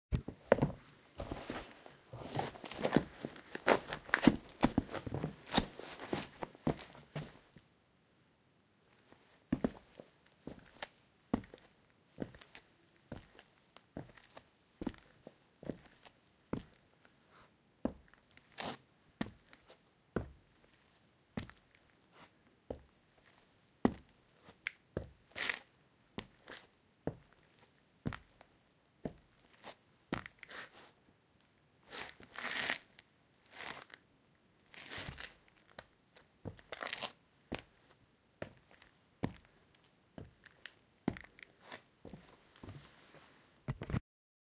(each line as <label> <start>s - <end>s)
footsteps 0.2s - 7.5s